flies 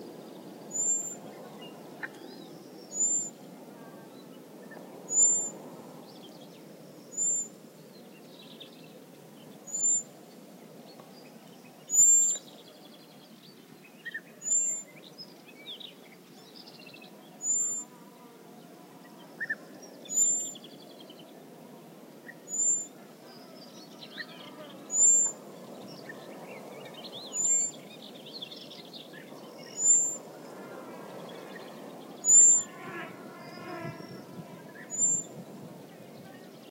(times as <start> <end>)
16.0 36.7